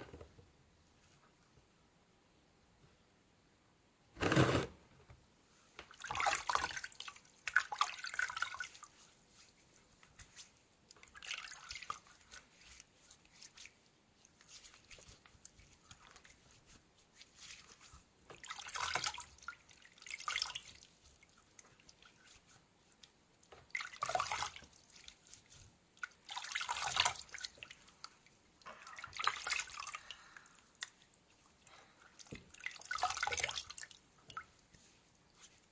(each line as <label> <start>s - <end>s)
Washing Feet in water 5.9s - 9.5s
Washing Feet in water 10.3s - 22.6s
Washing Feet in water 23.6s - 34.6s